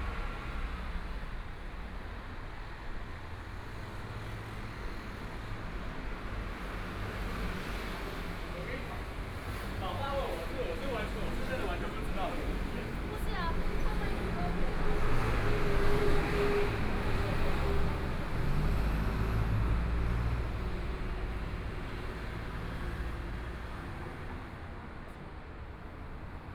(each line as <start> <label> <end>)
0.0 Traffic Sound 26.5
0.0 Pedestrians on the road 26.5